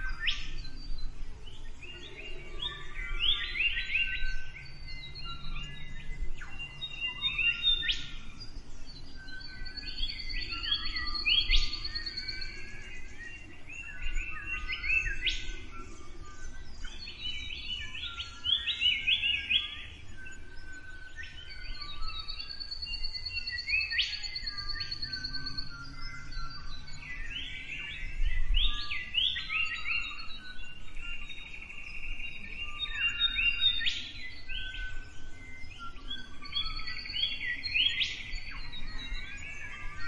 Morning birds 0:00.0 - 0:40.0

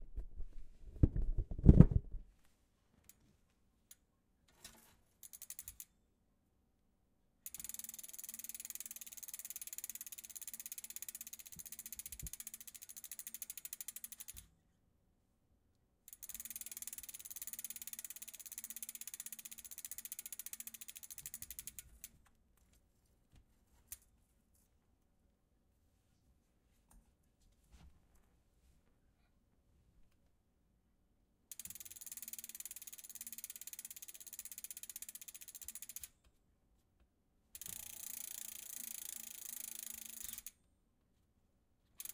Spinning a bicycle wheel 0:04.6 - 0:05.8
Spinning a bicycle wheel 0:07.4 - 0:14.5
Spinning a bicycle wheel 0:16.1 - 0:22.2
Spinning a bicycle wheel 0:31.5 - 0:36.2
Spinning a bicycle wheel 0:37.6 - 0:40.6

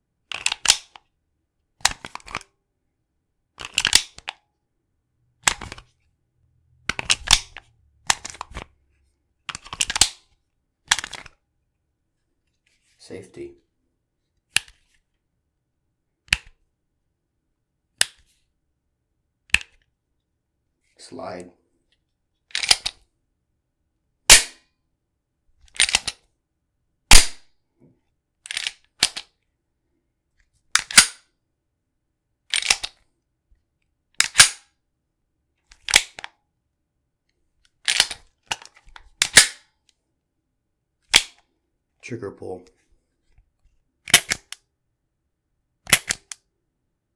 holster 0:01.8 - 0:02.5
handgun 0:24.3 - 0:24.6
holster 0:25.7 - 0:26.2
handgun 0:27.1 - 0:27.5
holster 0:30.7 - 0:31.2
handgun 0:30.8 - 0:31.2
holster 0:34.2 - 0:34.7
handgun 0:34.2 - 0:34.7
holster 0:37.8 - 0:39.6
handgun 0:39.2 - 0:39.7
handgun 0:44.1 - 0:44.6
holster 0:44.1 - 0:44.6
handgun 0:45.9 - 0:46.4
holster 0:45.9 - 0:46.4

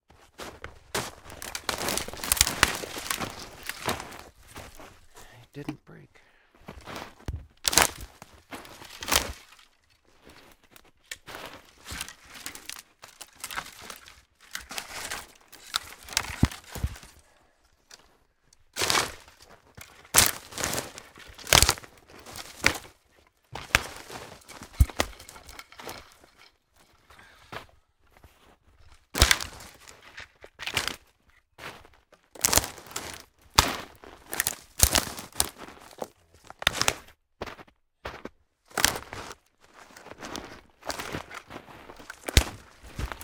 footsteps heavy rubber boots 0:00.1 - 0:05.3
breaking branches1 0:01.0 - 0:05.2
footsteps heavy rubber boots 0:06.6 - 0:17.2
breaking branches1 0:07.6 - 0:09.9
breaking branches1 0:11.1 - 0:18.1
breaking branches1 0:18.7 - 0:26.9
footsteps heavy rubber boots 0:18.8 - 0:43.2
breaking branches1 0:29.0 - 0:31.0
breaking branches1 0:32.4 - 0:36.9
breaking branches1 0:40.8 - 0:43.2

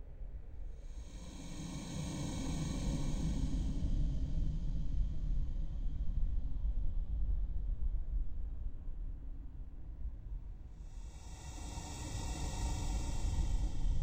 Cave Drone 0:10.8 - 0:14.0

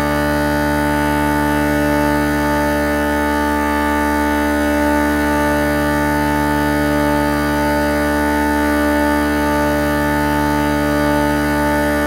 Uileann pipe drone 0:00.0 - 0:12.0

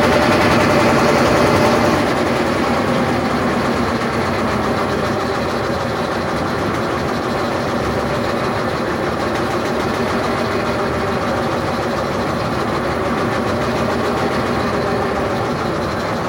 small motor boat 0:00.0 - 0:16.2

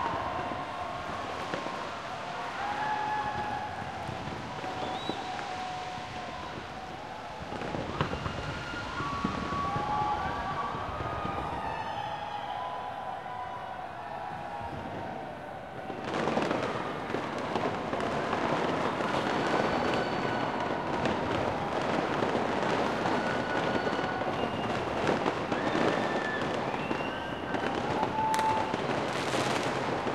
fireworks 0:00.0 - 0:13.2
Crowd 0:00.0 - 0:30.1
fireworks 0:14.2 - 0:30.1

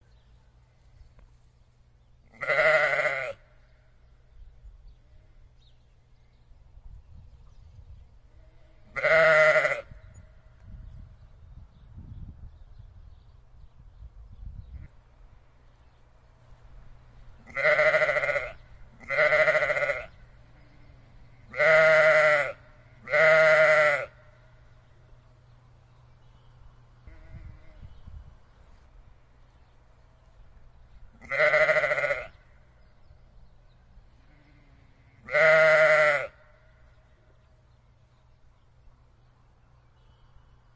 sheep sound 0:02.3 - 0:03.6
sheep sound 0:17.4 - 0:24.4
sheep sound 0:31.2 - 0:32.6
sheep sound 0:34.2 - 0:36.8

